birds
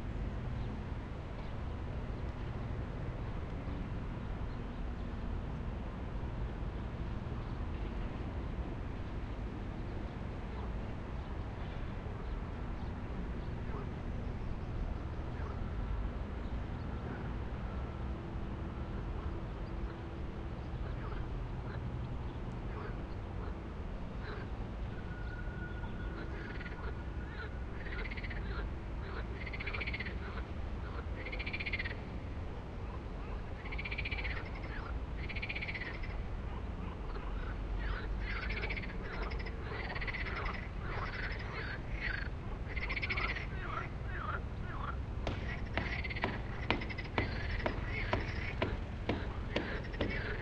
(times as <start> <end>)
9.0 18.0, 18.7 23.6, 24.2 32.1, 32.8 50.4